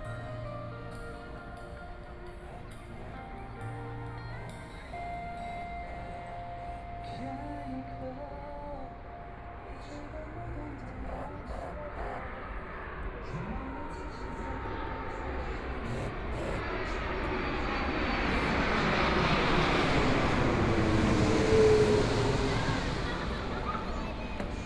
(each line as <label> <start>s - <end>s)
Tourist 0.0s - 24.6s
Traffic Sound 9.3s - 24.6s
Aircraft flying through 12.3s - 24.6s